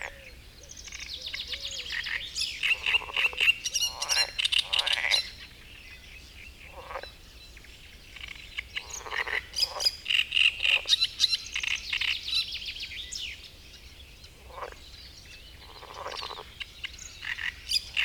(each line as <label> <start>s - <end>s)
frog chorus 0.0s - 5.8s
great reed warbler singing 0.1s - 18.0s
frog chorus 6.6s - 7.2s
frog chorus 8.1s - 12.6s
frog chorus 14.3s - 18.0s